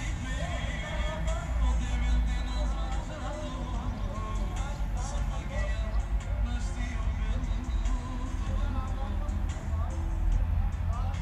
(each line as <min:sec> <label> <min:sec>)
0:00.0 drone of heavy traffic 0:11.2